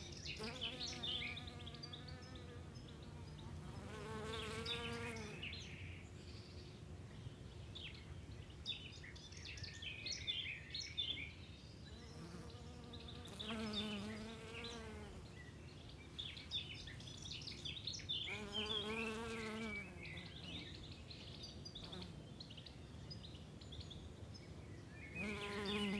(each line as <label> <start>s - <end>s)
birds 0.0s - 25.9s
bees 0.3s - 5.4s
bees 12.1s - 15.3s
bees 18.3s - 20.6s
bees 25.1s - 25.9s